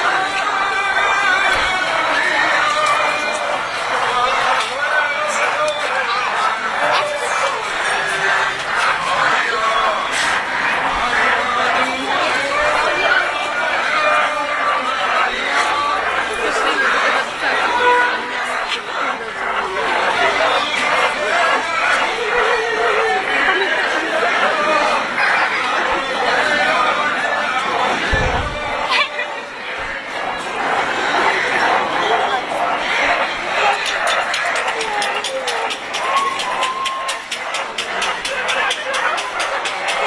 crowd 0.0 - 40.0

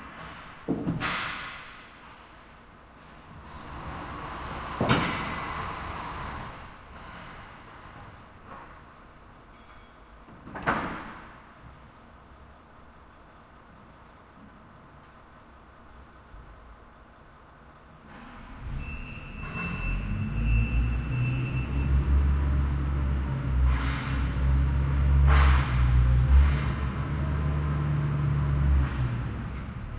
forklift 18.0 - 29.9

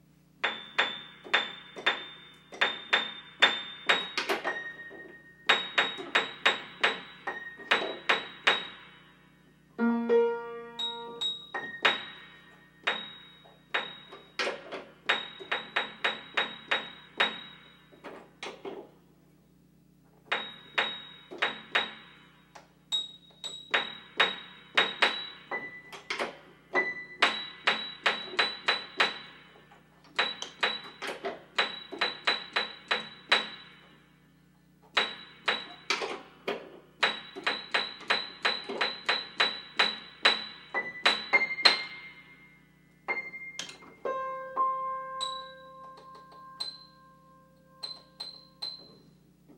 Piano tuning, highest notes, plink sound 0.5 - 14.4
Piano tuning, highest notes, plink sound 40.4 - 49.2

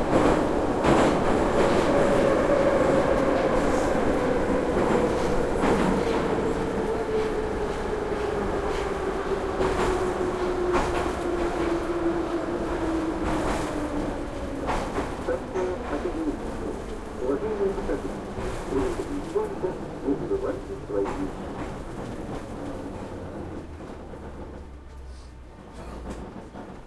subway ride 0.0 - 26.8
announcements 15.1 - 22.1
people talking 15.2 - 21.5

